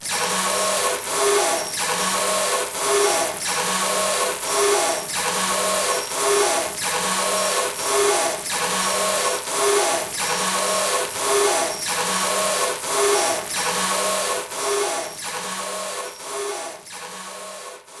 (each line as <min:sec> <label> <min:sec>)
0:00.0 defective screeching machine 0:18.0